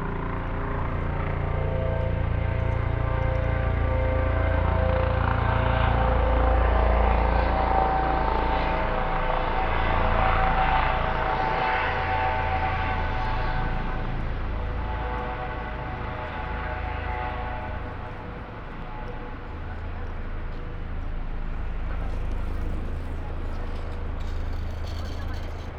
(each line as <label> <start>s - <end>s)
Trams 0.0s - 25.7s